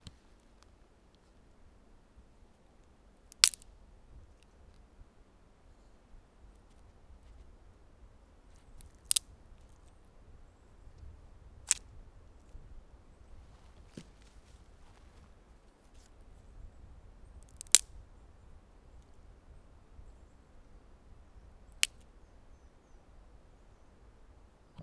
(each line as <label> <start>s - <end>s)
Snapping and breaking of small dry twigs and branches 3.3s - 3.7s
Snapping and breaking of small dry twigs and branches 8.6s - 9.8s
Snapping and breaking of small dry twigs and branches 17.4s - 18.0s